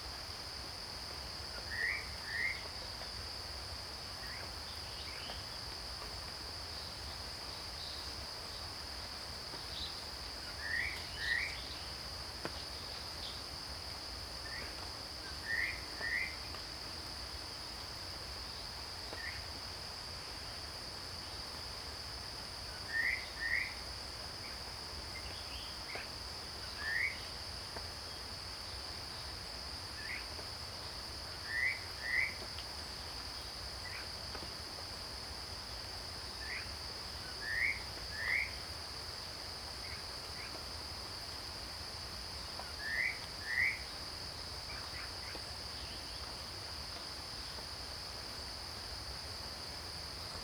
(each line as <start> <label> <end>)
14.4 Cicada sounds 17.0
22.5 Cicada sounds 50.4